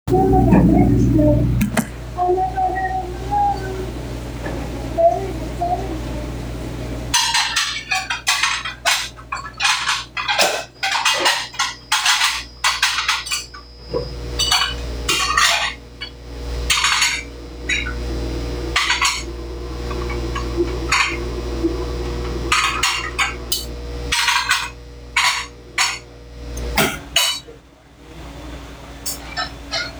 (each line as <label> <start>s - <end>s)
voices 0.1s - 7.0s
dish-pit 0.1s - 2.4s
dish-pit 16.7s - 18.1s
dish-pit 18.7s - 27.5s
dish-pit 29.1s - 29.9s